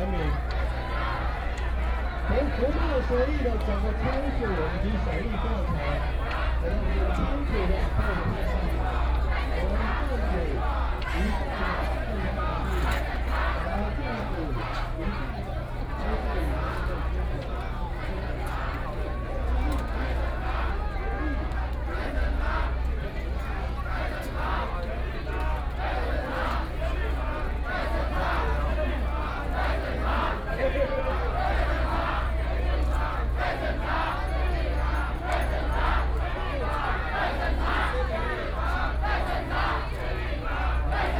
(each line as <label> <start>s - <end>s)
Protest crowd walking through 0.0s - 41.1s
tourists 0.0s - 41.1s